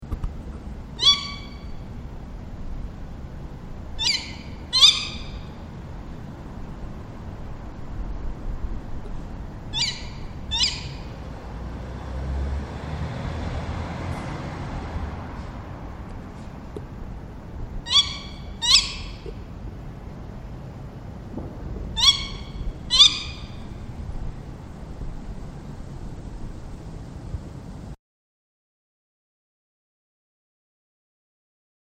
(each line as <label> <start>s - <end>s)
Tawny Owl 1.0s - 1.8s
Tawny Owl 4.0s - 5.6s
Tawny Owl 9.7s - 11.2s
Tawny Owl 17.8s - 19.4s
Tawny Owl 21.9s - 23.8s